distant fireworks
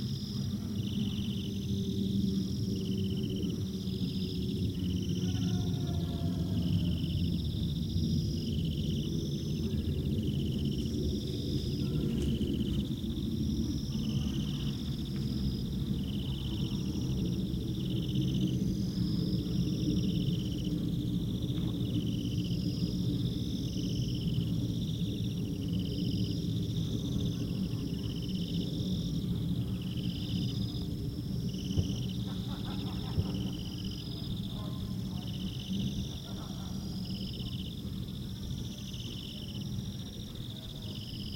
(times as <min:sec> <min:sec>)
0:31.6 0:34.0